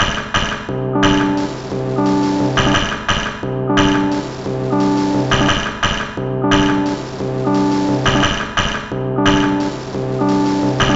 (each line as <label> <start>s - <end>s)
Drum Loop 0.0s - 10.9s